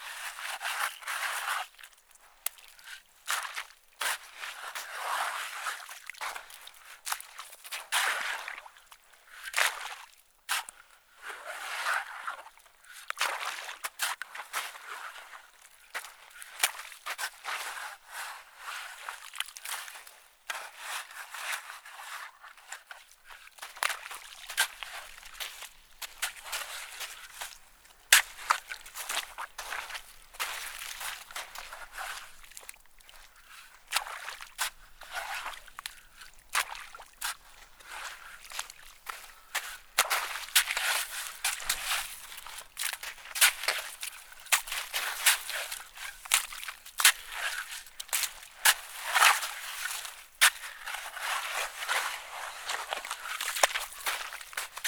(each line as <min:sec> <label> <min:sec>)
0:23.6 Shoveling in bacterial pond 0:54.8